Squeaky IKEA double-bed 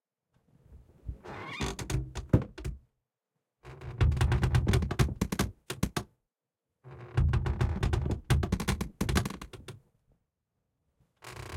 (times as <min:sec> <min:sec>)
0:01.1 0:02.7